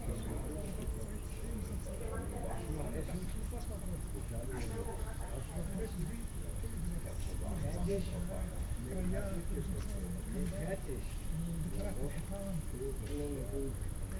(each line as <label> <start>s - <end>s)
crickets 0.0s - 14.1s
men talking on a balcony 0.0s - 14.1s